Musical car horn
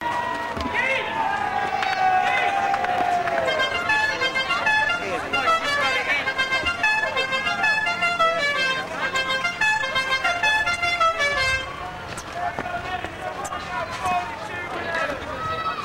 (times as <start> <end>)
3.4 11.8